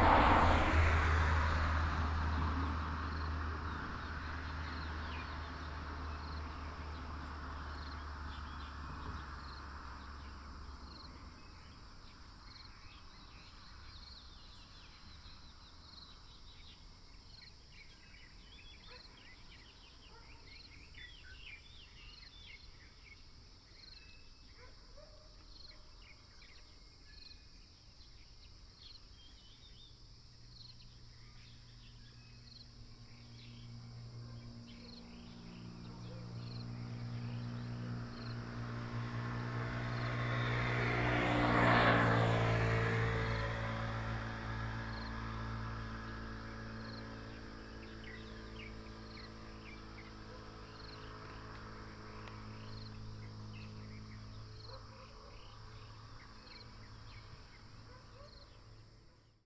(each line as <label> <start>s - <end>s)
traffic sound 0.0s - 13.9s
Insects 0.0s - 59.4s
traffic sound 30.3s - 59.2s